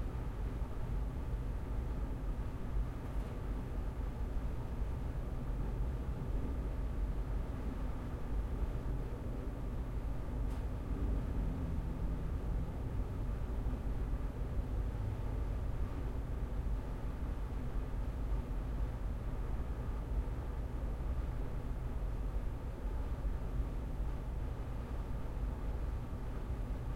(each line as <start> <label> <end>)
10.5 Low Hum 13.8